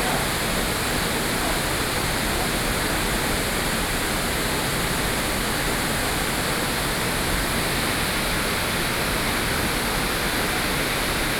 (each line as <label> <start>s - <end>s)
Waterfall 0.0s - 11.3s